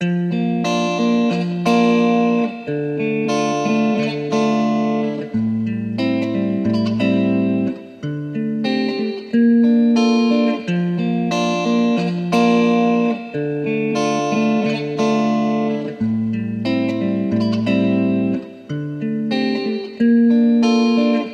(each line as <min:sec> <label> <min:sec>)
0:00.0 guitar 0:21.3